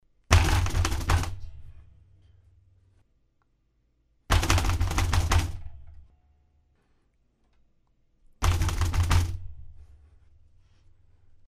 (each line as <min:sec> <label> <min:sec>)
0:00.3 rattling their keyboard and desk 0:01.8
0:04.3 rattling their keyboard and desk 0:06.1
0:08.4 rattling their keyboard and desk 0:10.0